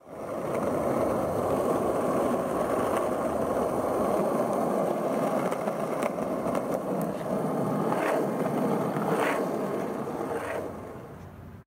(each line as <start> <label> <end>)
0.0 skating on a gentle downhill slope 11.6